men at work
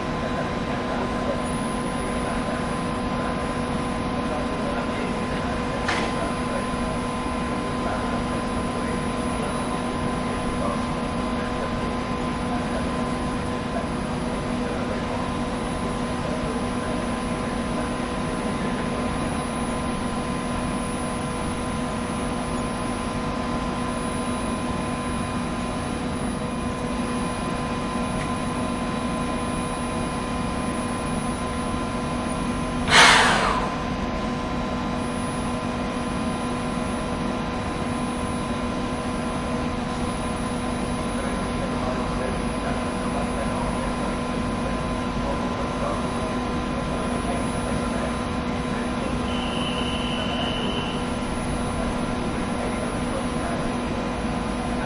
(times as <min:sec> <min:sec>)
0:04.5 0:06.9, 0:32.8 0:34.2